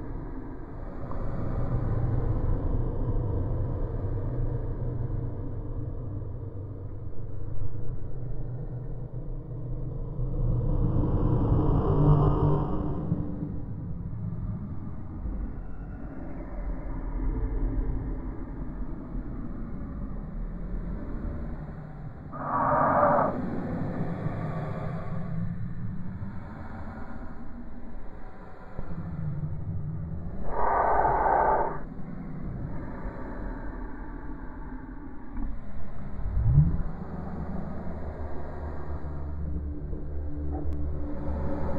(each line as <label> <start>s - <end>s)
Drone 0.0s - 41.7s
moan 22.3s - 25.4s
growl 22.4s - 24.1s
moan 29.8s - 31.9s
growl 30.4s - 31.8s